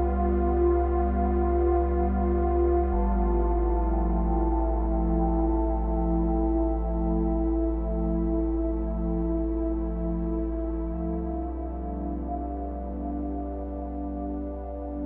0.0s drone 15.0s
0.0s piano 15.0s

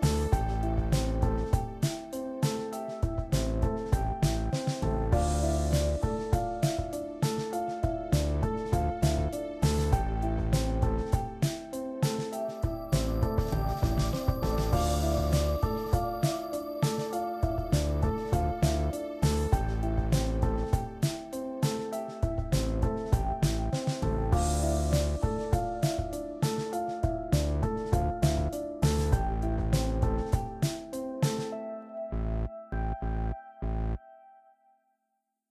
0.0s mysterious beat 31.5s

